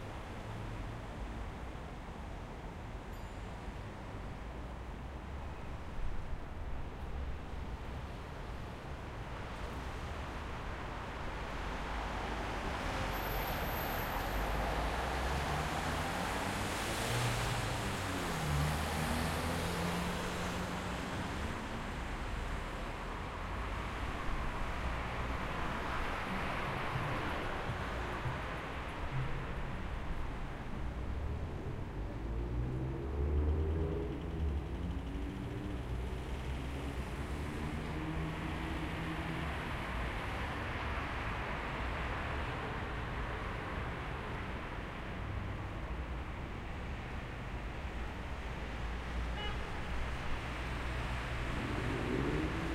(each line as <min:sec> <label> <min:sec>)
0:00.0 medium traffic in dry conditions 0:52.7